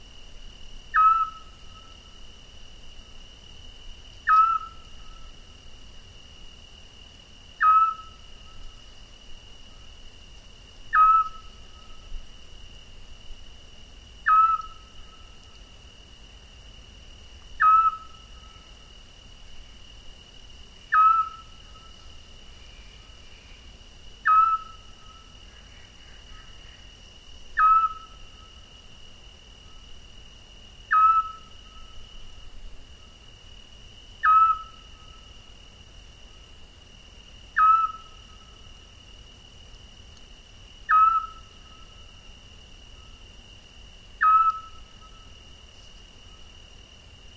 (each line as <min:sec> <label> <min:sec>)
0:00.9 Scops Owl 0:01.9
0:04.3 Scops Owl 0:05.3
0:07.6 Scops Owl 0:08.2
0:10.9 Scops Owl 0:12.0
0:14.2 Scops Owl 0:15.3
0:17.6 Scops Owl 0:18.7
0:20.9 Scops Owl 0:22.0
0:24.2 Scops Owl 0:26.9
0:27.6 Scops Owl 0:28.2
0:30.9 Scops Owl 0:32.0
0:34.2 Scops Owl 0:35.2
0:37.6 Scops Owl 0:38.5
0:40.9 Scops Owl 0:42.0
0:44.2 Scops Owl 0:45.3